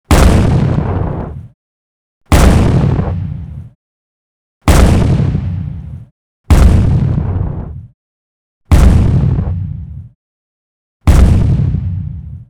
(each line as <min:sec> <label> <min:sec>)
0:00.1 small detonating explosion 0:01.5
0:02.3 small detonating explosion 0:03.6
0:04.7 small detonating explosion 0:05.7
0:06.5 small detonating explosion 0:07.8
0:08.7 small detonating explosion 0:09.7
0:11.1 small detonating explosion 0:12.4